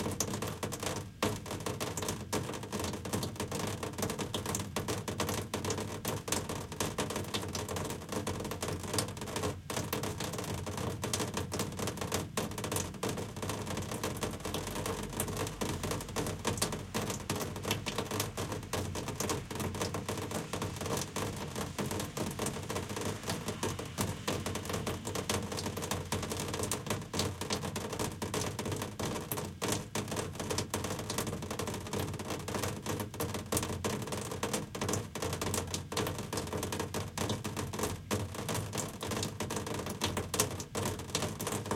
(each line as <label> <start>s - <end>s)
raindrops on a window air conditioner 0.0s - 41.7s
distant street noise 16.9s - 26.5s